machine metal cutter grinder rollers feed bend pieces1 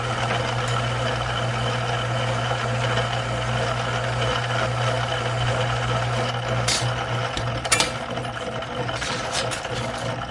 6.3s 10.3s

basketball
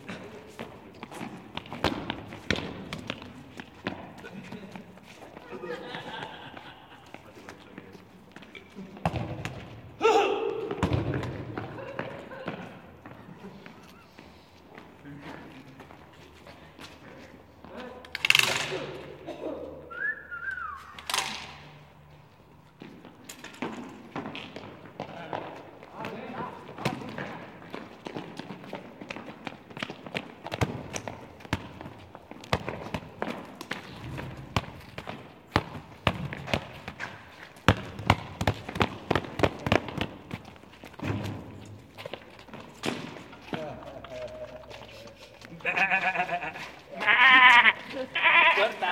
0.0s 4.8s, 8.9s 13.2s, 22.8s 44.4s

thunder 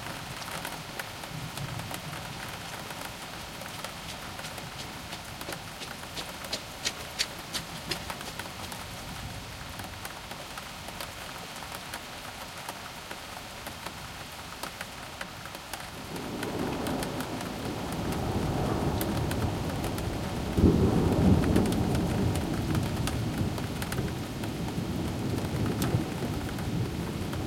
16.0s 27.4s

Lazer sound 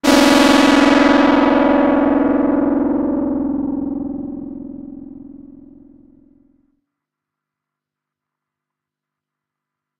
0.0s 6.4s

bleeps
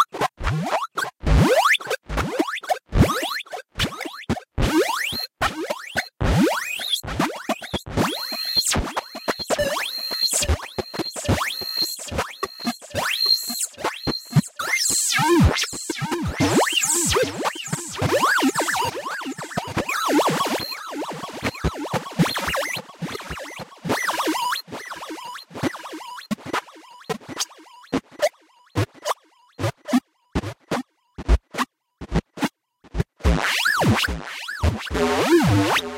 8.1s 14.5s

